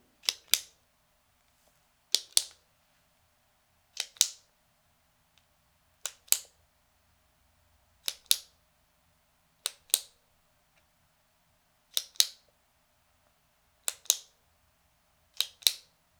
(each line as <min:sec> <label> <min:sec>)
0:00.2 pen clicking slowly 0:00.8
0:02.1 pen clicking slowly 0:02.6
0:04.0 pen clicking slowly 0:04.4
0:08.0 pen clicking slowly 0:08.5
0:13.9 pen clicking slowly 0:14.3
0:15.3 pen clicking slowly 0:15.8